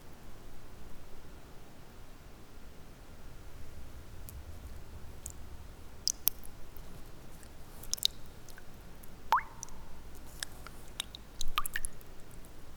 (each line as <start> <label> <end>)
6.1 water drops 12.4